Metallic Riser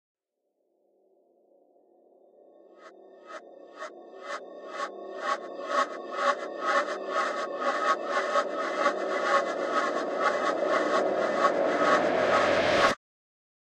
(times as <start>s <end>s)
3.2s 13.0s